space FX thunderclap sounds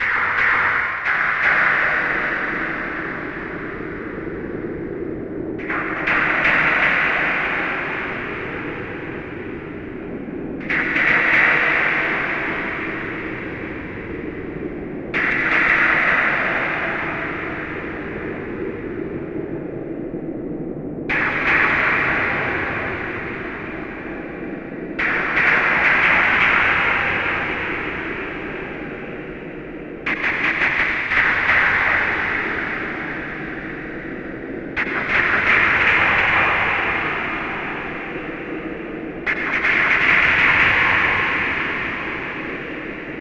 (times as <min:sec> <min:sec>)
0:21.0 0:43.2